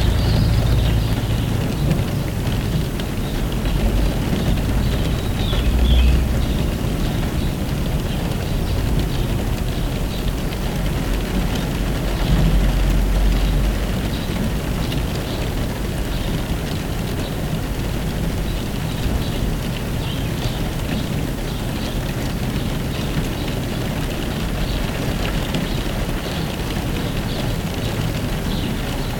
4.0s BIRD SINGING 8.6s

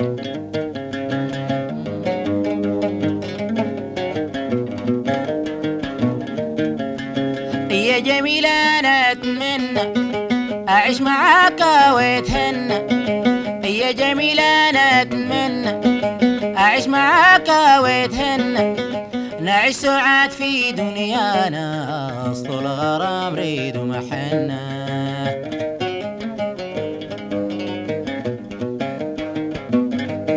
7.5s singer 25.5s

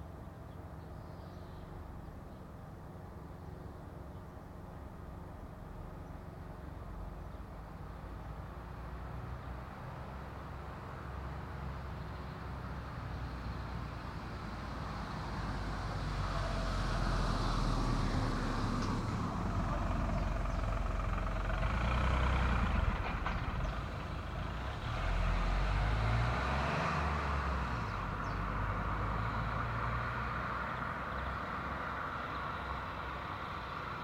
0.0s Cars 34.0s

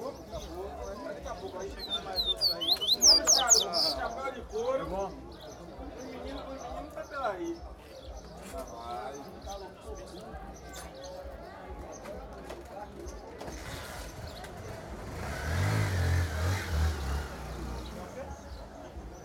1.6s papa-capims singing 4.0s

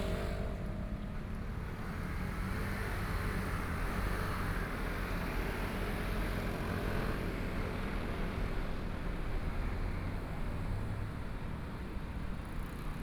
0.0s Traffic Sound 2.5s

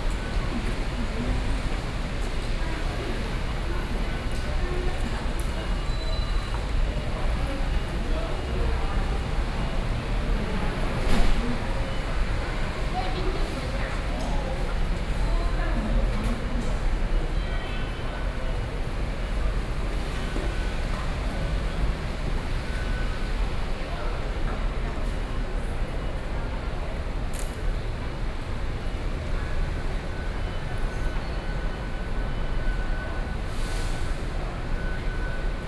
0.0s Rainy streets 35.6s
0.0s crowd 35.6s

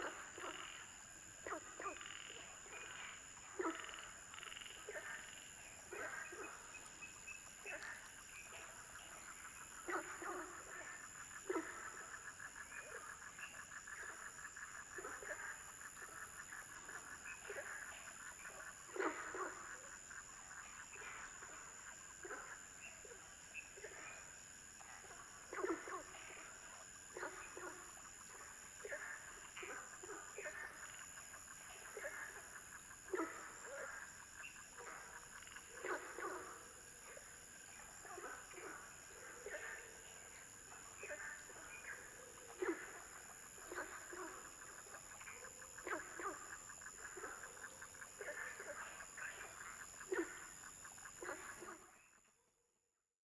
0.0s Frogs chirping 52.2s

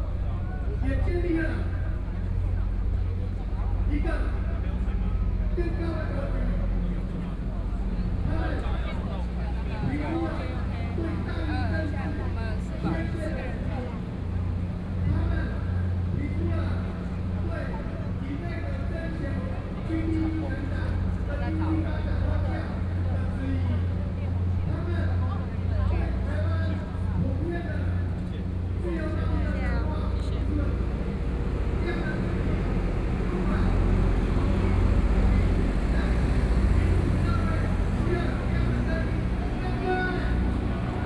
28.6s Walking through the site in protest 41.0s

